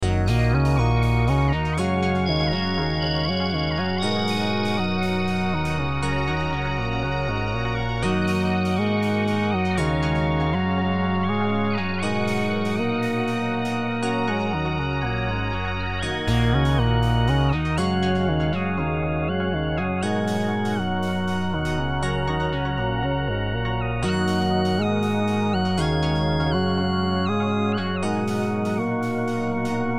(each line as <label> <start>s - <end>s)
Synths 0.0s - 29.9s
Melodic Bells 0.0s - 29.9s